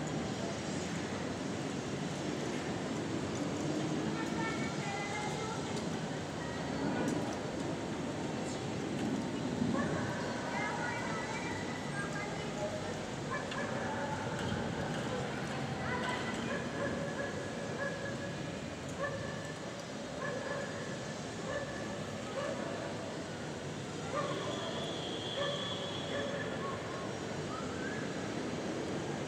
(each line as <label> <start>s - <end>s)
buses 0.0s - 29.2s
dogs 13.3s - 14.1s
dogs 16.4s - 18.3s
dogs 20.2s - 20.8s
dogs 24.1s - 24.5s
dogs 25.4s - 27.0s